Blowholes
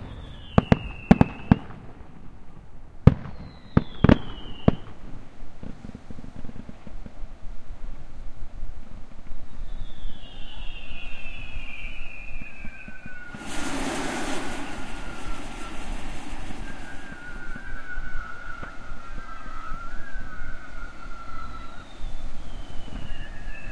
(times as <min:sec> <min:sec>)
0:13.3 0:20.3